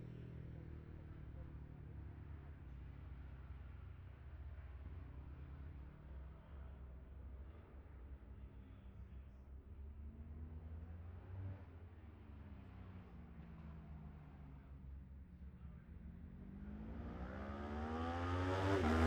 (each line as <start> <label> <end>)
15.8 road racing 19.0